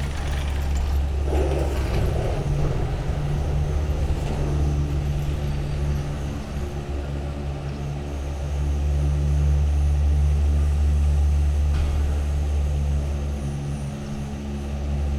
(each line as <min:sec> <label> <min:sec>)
0:00.0 arriving cabins 0:10.7
0:00.0 ropeway ground station 0:15.1